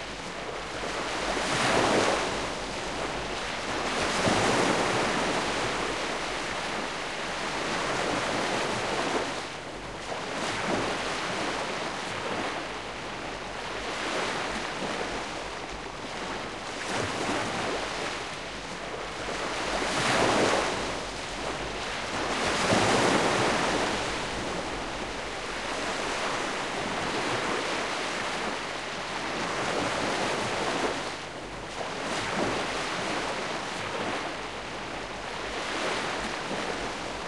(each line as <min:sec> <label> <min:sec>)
0:00.0 Seawash (calm) 0:37.2